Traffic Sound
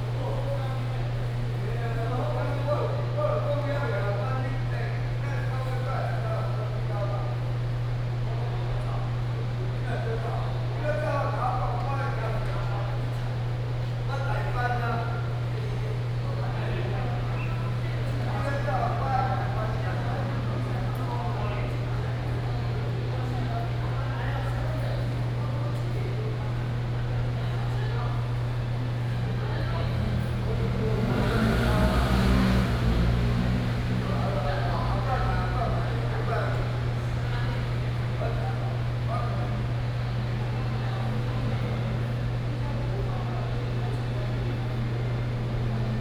29.2s 38.2s

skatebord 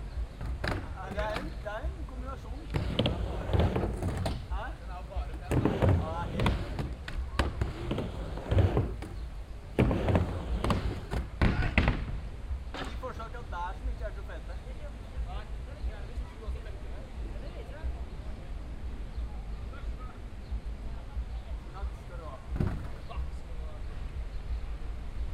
2.6s 12.2s

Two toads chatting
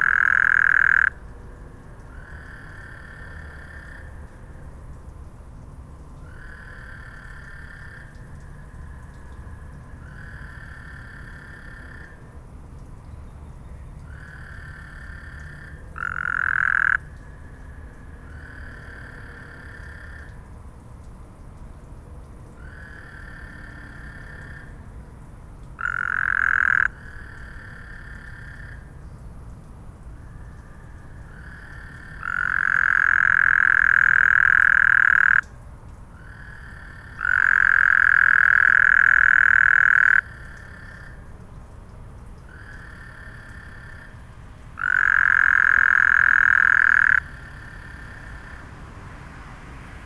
0.0s 1.2s, 31.3s 35.5s, 36.2s 41.2s, 44.8s 48.5s

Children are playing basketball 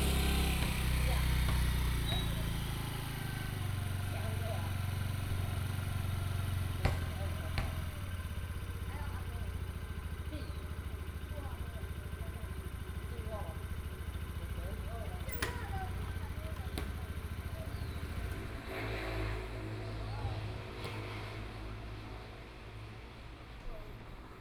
0.0s 18.4s

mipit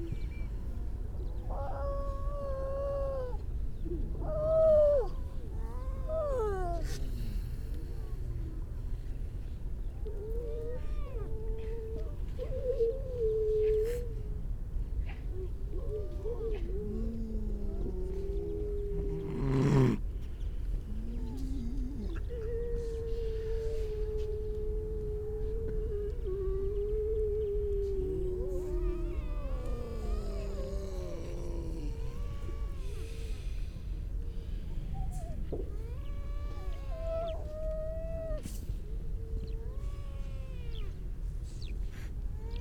15.0s 42.6s

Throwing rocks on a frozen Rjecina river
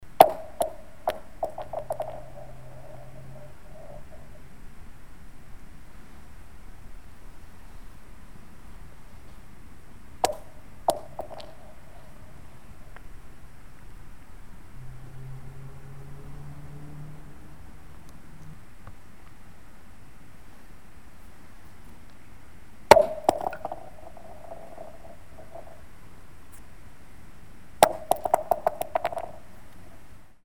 0.2s 3.0s, 22.9s 25.8s, 27.8s 29.4s

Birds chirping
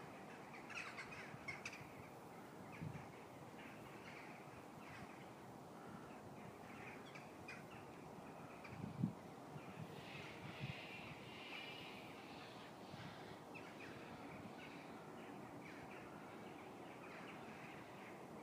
9.6s 18.4s

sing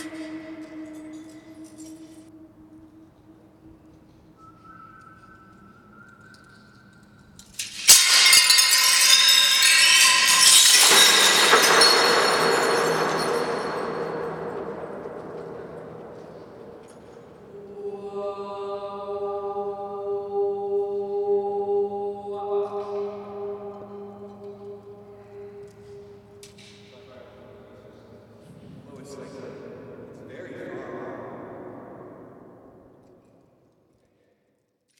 0.0s 7.5s, 8.2s 28.4s

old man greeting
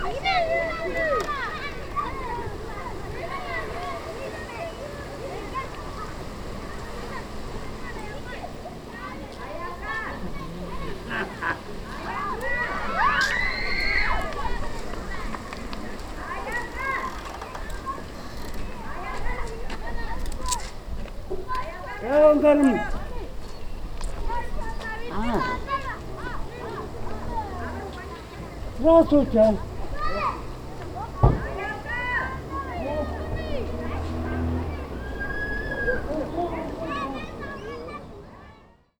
22.0s 23.0s, 24.8s 27.8s, 28.7s 33.8s

